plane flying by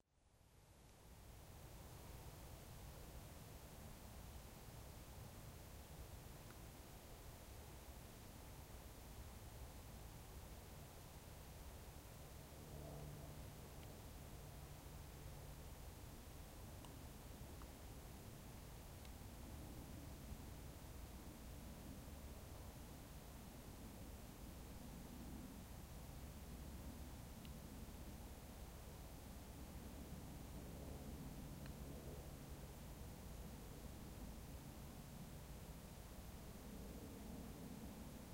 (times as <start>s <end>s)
12.5s 13.6s